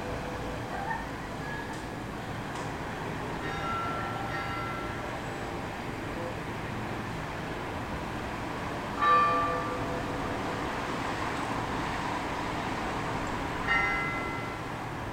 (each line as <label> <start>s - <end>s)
evening bells 3.4s - 5.4s
evening bells 9.0s - 10.4s
evening bells 13.6s - 14.7s